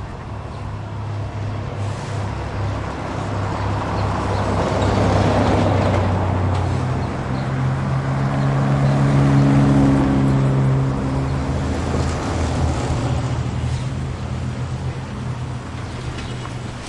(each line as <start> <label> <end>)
0.0 cars 16.8
0.0 trucks 16.8